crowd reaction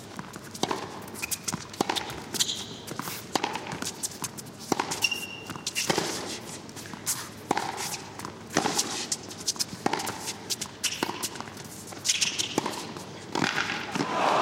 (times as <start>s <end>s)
13.9s 14.4s